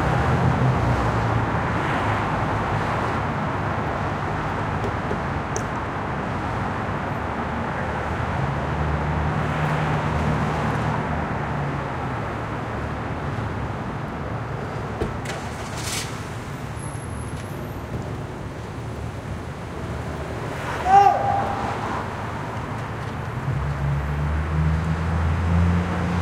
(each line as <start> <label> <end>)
0.0 Bus 26.2
0.0 Traffic 26.2
0.0 trucks 26.2
14.5 footsteps on the sidewalk 20.5
21.4 footsteps on the sidewalk 25.3